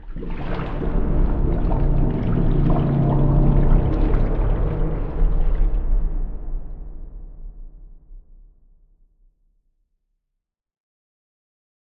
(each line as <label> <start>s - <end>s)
bubbles 0.0s - 6.2s
Sharktopus swimming through water 0.0s - 7.9s